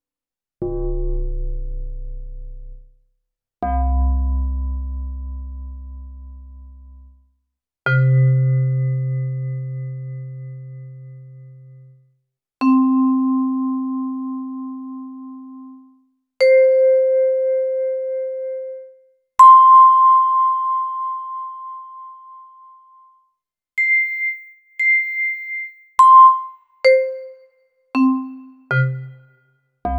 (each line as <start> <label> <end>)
12.6 vibraphone 15.4
23.8 vibraphone 29.9